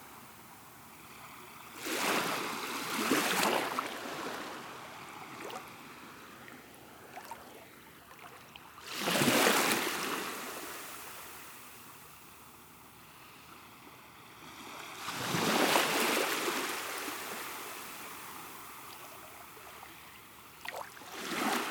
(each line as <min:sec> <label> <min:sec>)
0:00.0 Waves are small 0:21.7